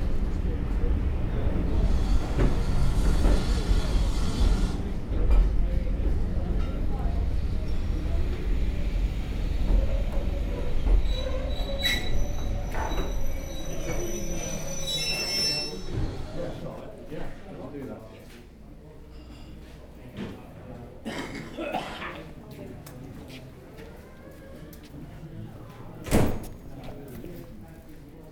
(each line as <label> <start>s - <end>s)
Steam train arrives 0.0s - 16.7s